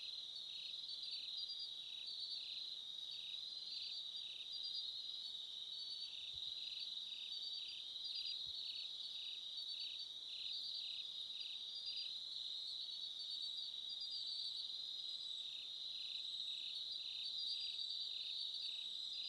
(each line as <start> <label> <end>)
0.0 Autumn crickets 19.2